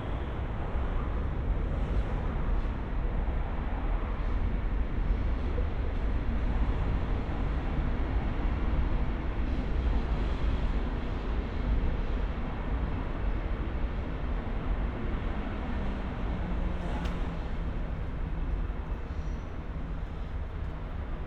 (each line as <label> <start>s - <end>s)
trains traffic passing on various layers 5.9s - 21.2s